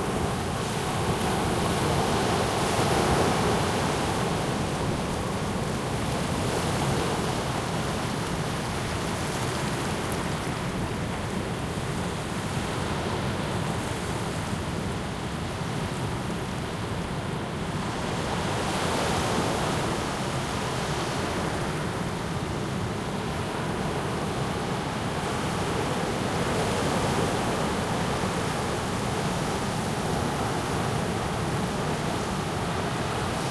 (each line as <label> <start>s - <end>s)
waves in a medium strength breeze 0.0s - 33.5s